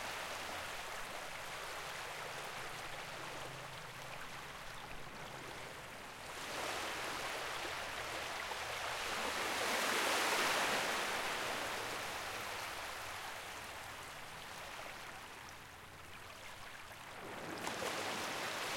sparkly fresh water lapping on the seaside 0.0 - 18.7
low rumble of an engine in the distance 0.0 - 8.9

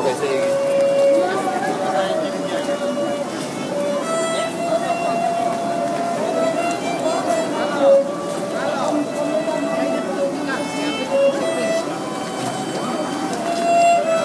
groups of people passing by and talking 0.0 - 14.2
playing violin 0.0 - 14.2

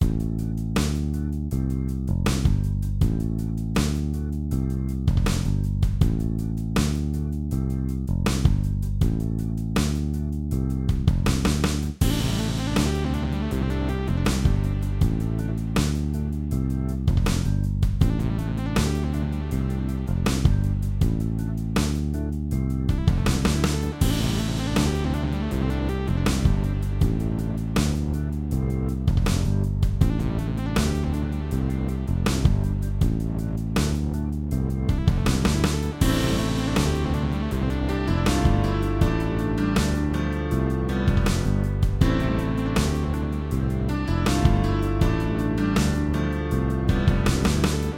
guitar 34.8 - 47.9

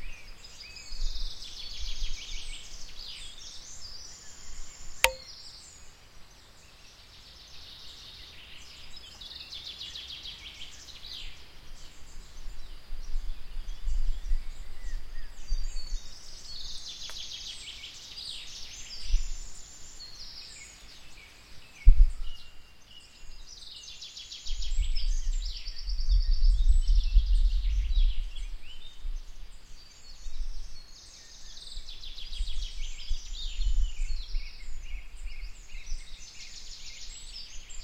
Birds 0.0 - 37.8

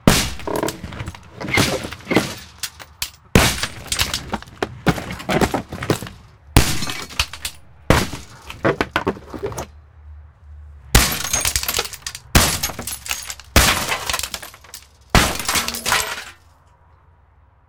window small smash with axe 0.1 - 2.5
window small smash with axe 11.0 - 16.3
glass shards debris 11.0 - 16.4

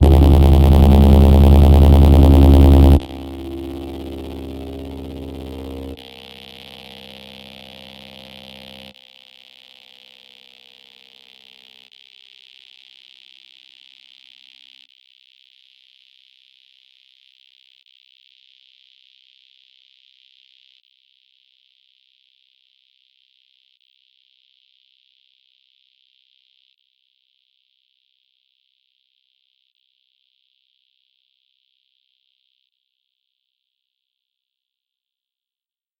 SHARP HARMONIC SWEEP with fading high pass 0.0 - 8.9

